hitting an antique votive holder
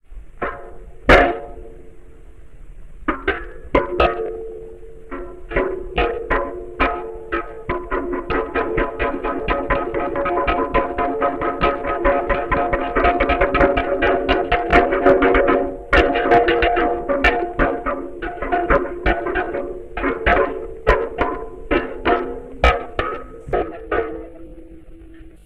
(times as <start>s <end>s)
5.1s 24.8s